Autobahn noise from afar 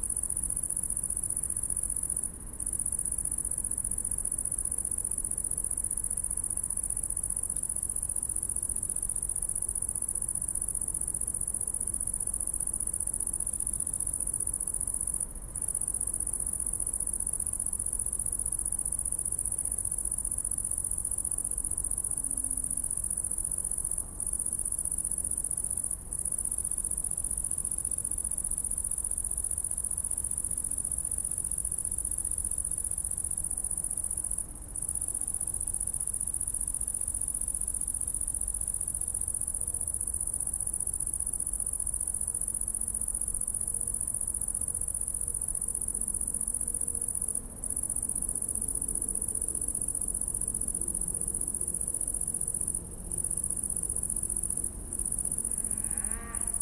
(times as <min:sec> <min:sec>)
0:54.7 0:56.6